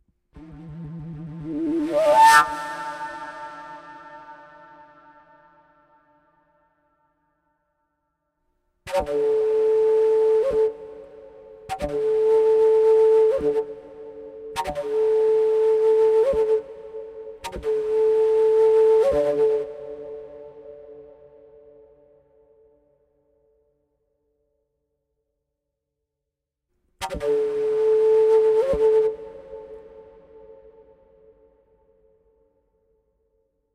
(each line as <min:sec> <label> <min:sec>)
0:00.2 reverberated PVC fujara 0:07.8
0:26.9 reverberated PVC fujara 0:33.5